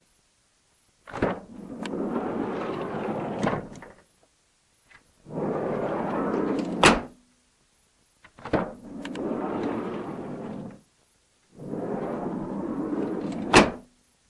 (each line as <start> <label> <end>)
1.0 Opening and closing a Dodge Caravan sliding door 4.0
5.2 Opening and closing a Dodge Caravan sliding door 7.2
8.3 Opening and closing a Dodge Caravan sliding door 10.8
11.5 Opening and closing a Dodge Caravan sliding door 13.9